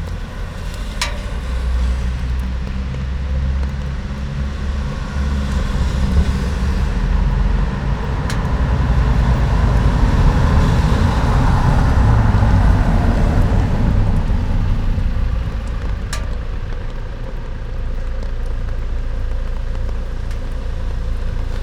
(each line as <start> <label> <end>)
0.0 night rain 21.6
0.0 traffic 21.6
0.0 rain gutter 21.6